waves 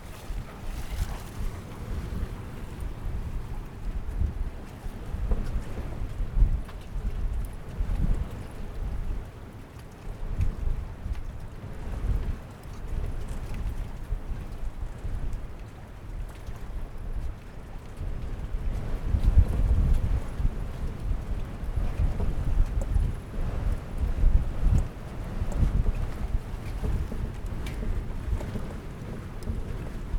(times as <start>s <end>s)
0.0s 5.0s, 24.9s 30.1s